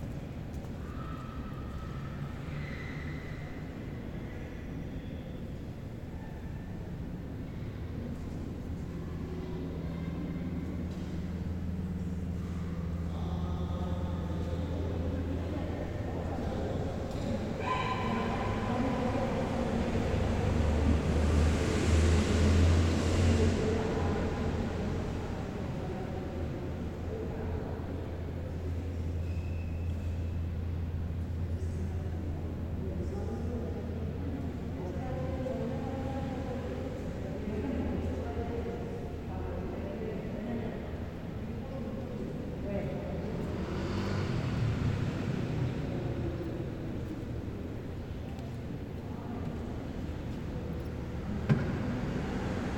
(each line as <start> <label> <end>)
43.0 Carros y motos pasando 47.9